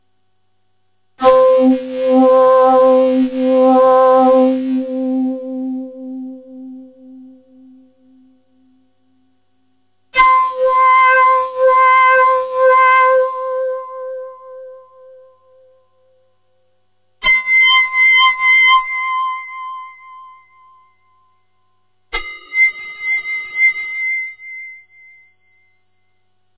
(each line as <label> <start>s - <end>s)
synth 1.2s - 8.3s